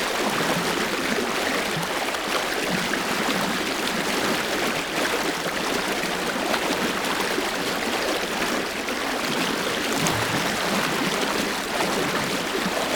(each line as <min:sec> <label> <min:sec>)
0:00.0 water, murmur 0:12.9